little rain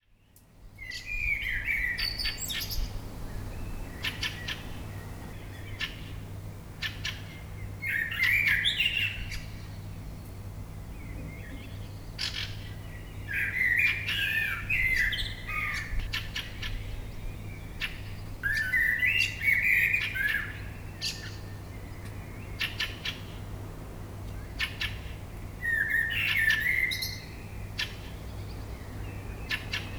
0:02.5 0:06.6

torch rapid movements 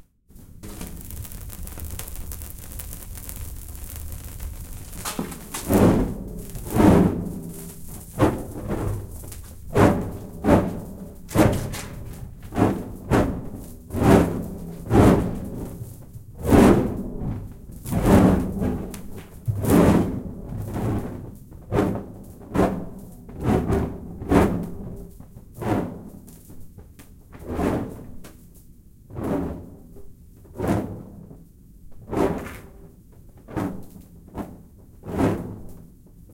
0:00.6 0:09.4

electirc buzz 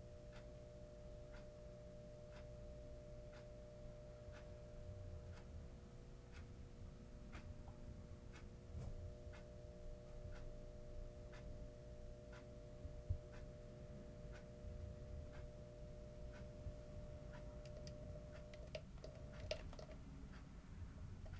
0:09.0 0:20.0

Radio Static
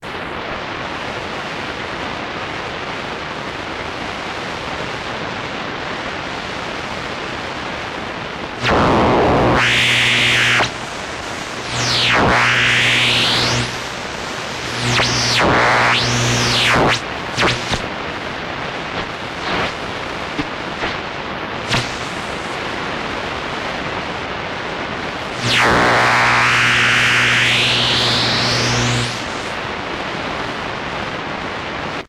0:06.6 0:32.0

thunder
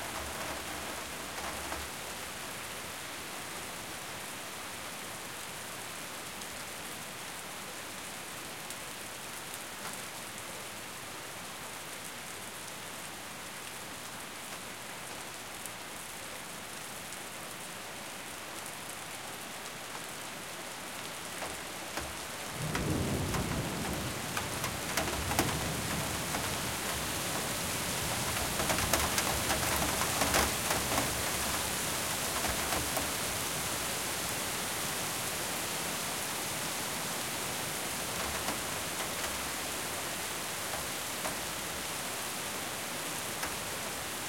0:22.6 0:27.0

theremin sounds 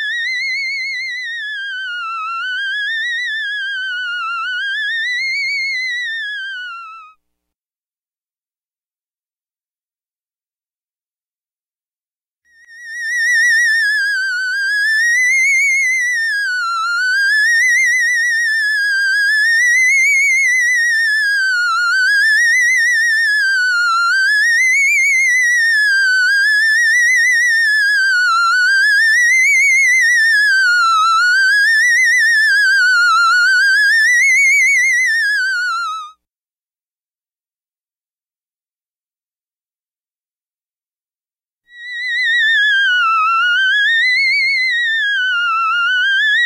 0:00.0 0:07.1, 0:12.6 0:36.1, 0:41.7 0:46.4

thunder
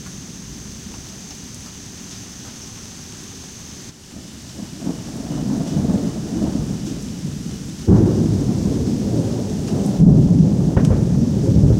0:04.1 0:11.7

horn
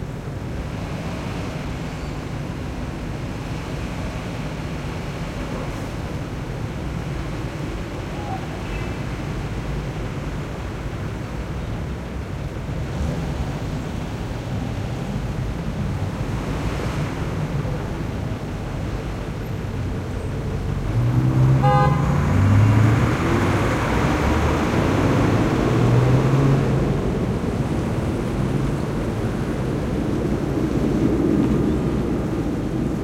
0:21.5 0:22.3

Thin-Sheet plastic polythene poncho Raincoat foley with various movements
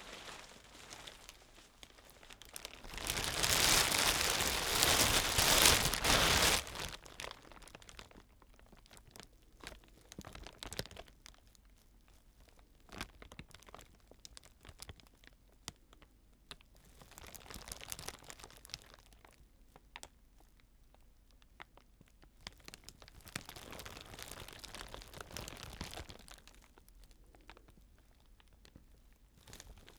0:00.0 0:09.1, 0:22.8 0:26.9

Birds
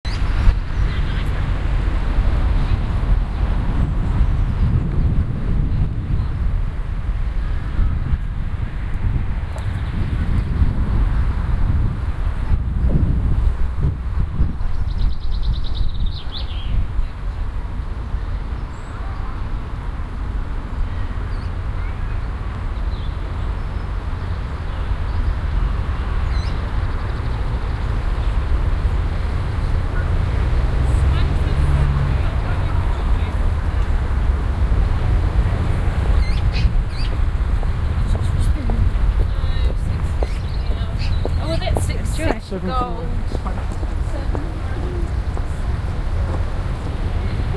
0:14.2 0:19.5, 0:20.7 0:34.0, 0:35.6 0:47.5

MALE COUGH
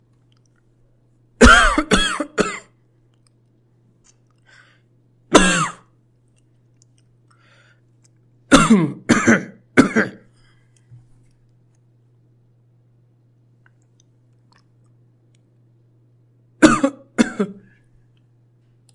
0:01.4 0:02.7, 0:05.3 0:05.9, 0:08.5 0:10.3, 0:16.6 0:17.7

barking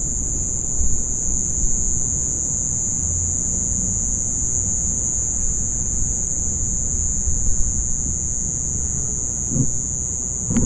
0:09.5 0:09.8

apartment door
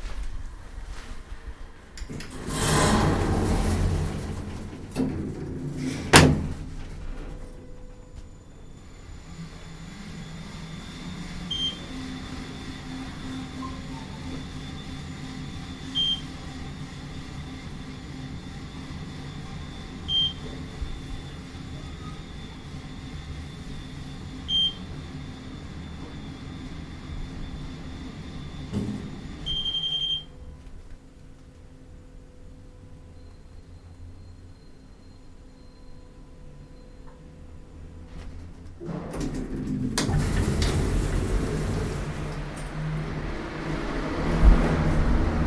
0:02.0 0:07.8, 0:38.7 0:45.1

